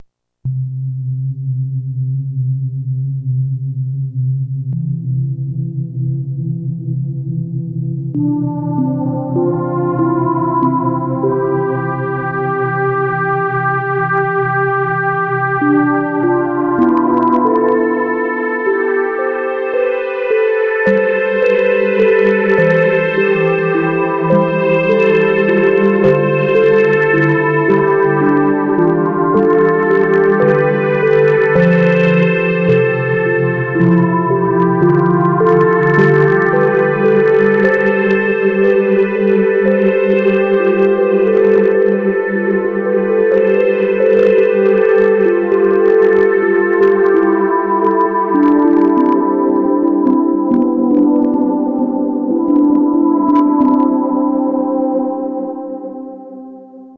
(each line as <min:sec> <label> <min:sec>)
0:08.1 synth setting 0:54.6